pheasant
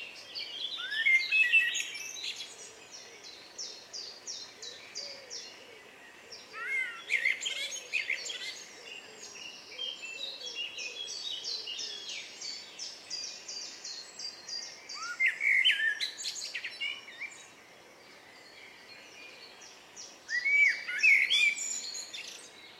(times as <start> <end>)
0.0 13.0